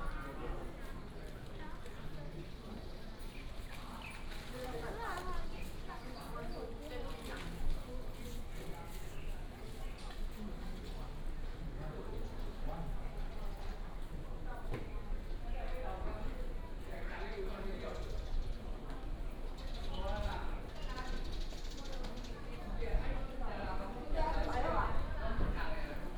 Walking in the temple 0:00.0 - 0:26.1

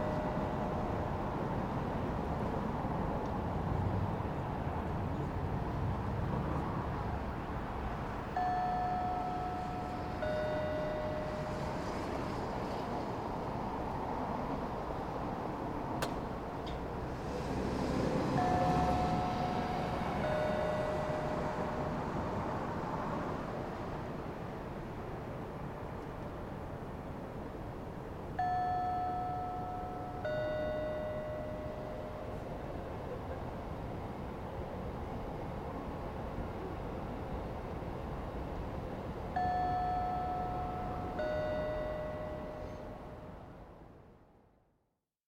chiming speaker 0:00.0 - 0:00.9
ebb and flow of traffic on the road 0:00.0 - 0:44.8
chiming speaker 0:08.4 - 0:12.0
chiming speaker 0:18.4 - 0:22.1
chiming speaker 0:28.4 - 0:32.8
chiming speaker 0:39.4 - 0:43.4

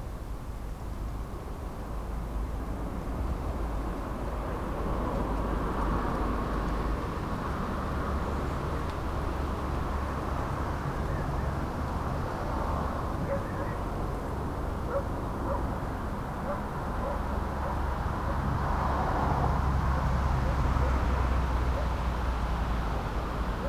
cars passing by 0:02.4 - 0:23.6
barking dogs 0:13.2 - 0:13.8
barking dogs 0:14.9 - 0:15.7
barking dogs 0:16.4 - 0:18.4

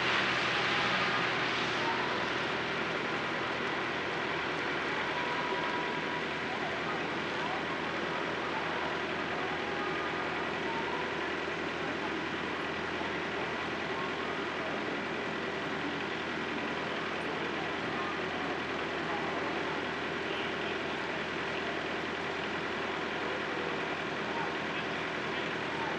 Cars are slowly driving through the intersection 0:00.0 - 0:25.9
a few distant voices 0:00.0 - 0:25.9
parked truck with its engine on 0:00.0 - 0:25.9

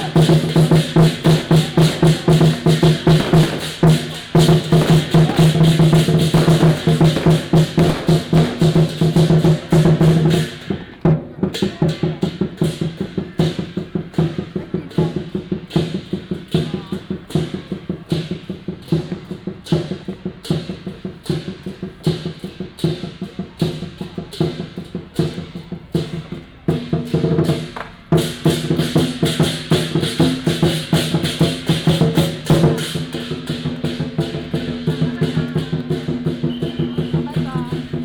Crowded crowd 0:00.0 - 0:38.0
Fireworks and firecrackers sound 0:00.0 - 0:38.0

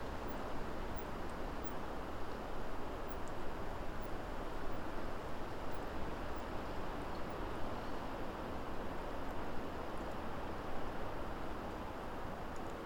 wind blowing through the birch woodland 0:00.0 - 0:12.8

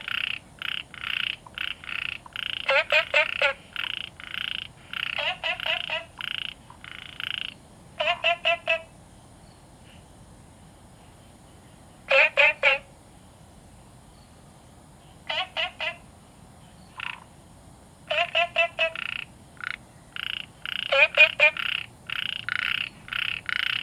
Frogs chirping 0:00.0 - 0:10.2
Frogs chirping 0:10.9 - 0:23.8

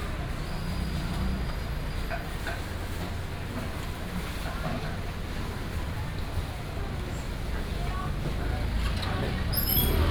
traffic sound 0:05.6 - 0:10.1

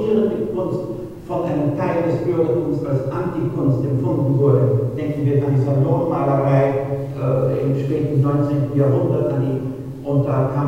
video showing a podium discussion 0:00.0 - 0:10.6

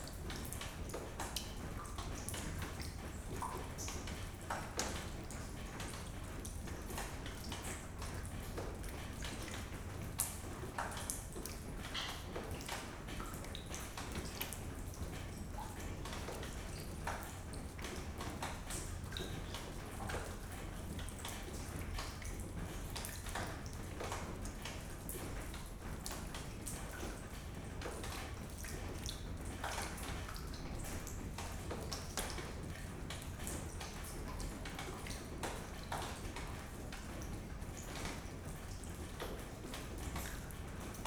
a leaking ceiling 0:00.0 - 0:41.0

